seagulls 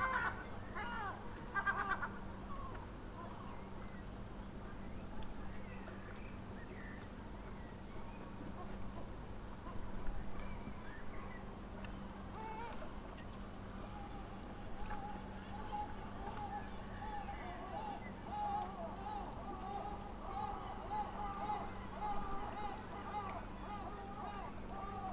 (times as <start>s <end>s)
0.0s 2.7s, 14.8s 25.1s